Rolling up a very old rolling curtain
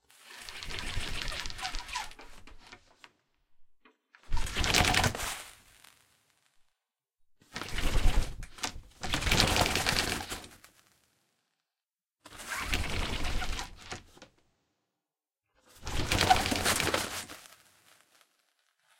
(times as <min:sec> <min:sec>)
0:00.1 0:03.0, 0:04.3 0:05.6, 0:07.5 0:10.8, 0:12.3 0:14.2, 0:15.7 0:18.9